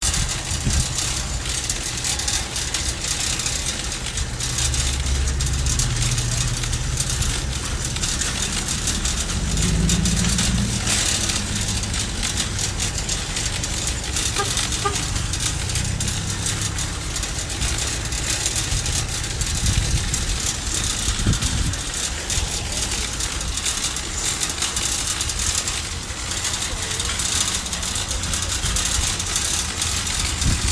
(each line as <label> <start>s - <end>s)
Pushing Grocery Cart 0.0s - 30.7s